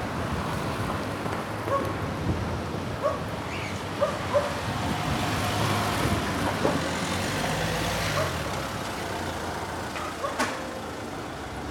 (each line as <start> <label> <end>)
4.0 dog barking 4.6